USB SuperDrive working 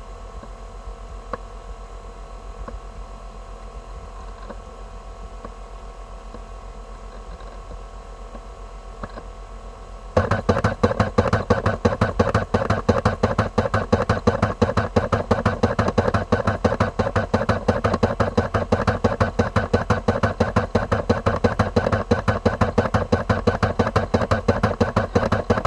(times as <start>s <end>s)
10.2s 25.6s